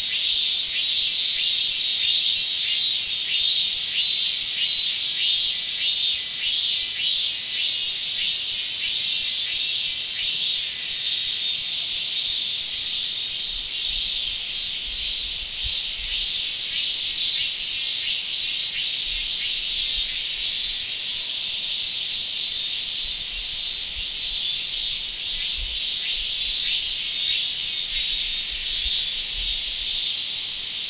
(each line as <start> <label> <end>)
0.0 Cicadas 30.8
0.0 crickets 30.8